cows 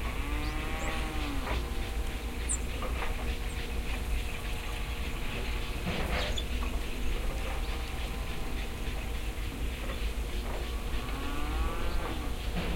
0.0s 2.2s, 10.4s 12.7s

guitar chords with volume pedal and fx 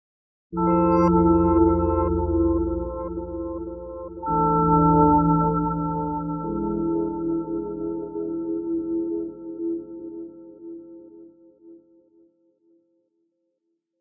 0.6s 11.5s

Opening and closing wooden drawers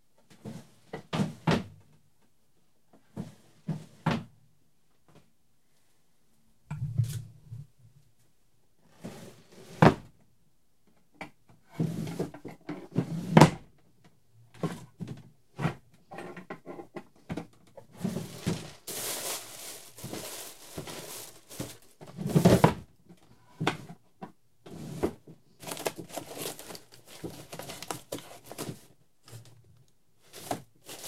11.7s 13.7s

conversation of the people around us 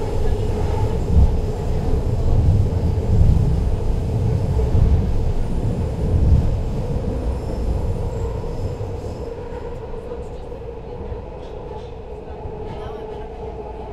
9.5s 13.9s

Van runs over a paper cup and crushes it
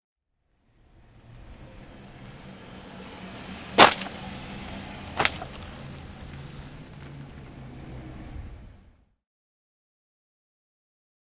3.8s 4.2s, 5.2s 5.8s

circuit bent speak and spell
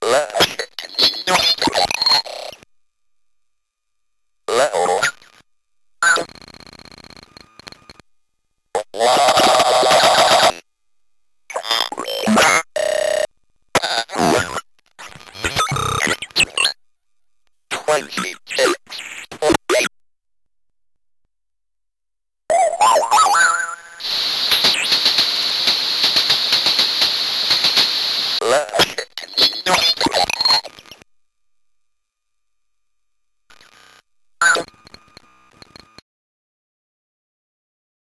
0.0s 2.6s, 8.8s 10.6s, 17.7s 19.9s, 22.5s 31.0s, 34.4s 36.0s

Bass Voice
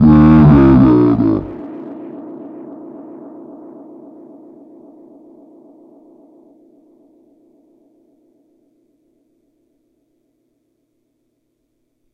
0.0s 1.6s

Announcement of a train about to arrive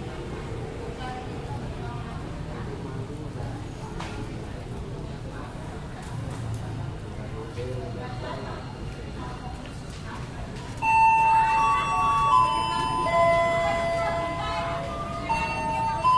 10.8s 16.1s

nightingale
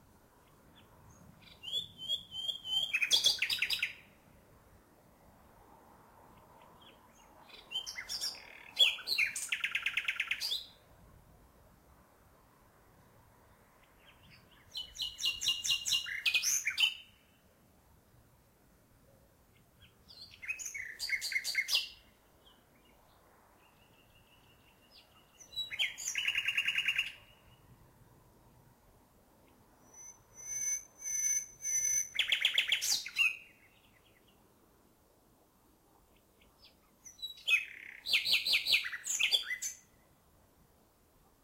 0.0s 4.2s, 6.2s 10.9s, 13.4s 17.5s, 19.0s 28.6s, 29.3s 34.8s, 35.8s 40.3s

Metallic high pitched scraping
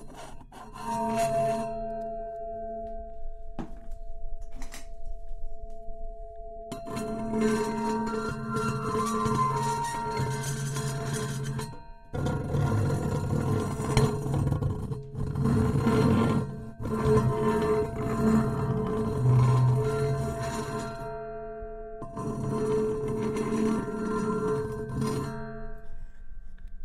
0.0s 3.2s, 6.7s 13.9s

